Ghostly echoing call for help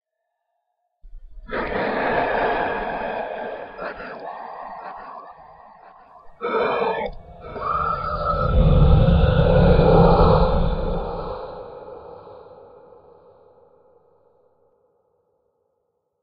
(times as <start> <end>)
1.5 13.6